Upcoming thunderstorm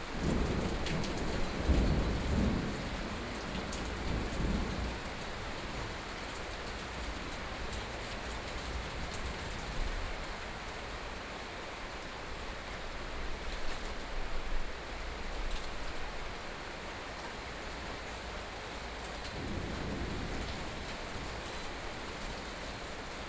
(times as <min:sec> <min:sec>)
0:00.1 0:05.5, 0:19.4 0:22.7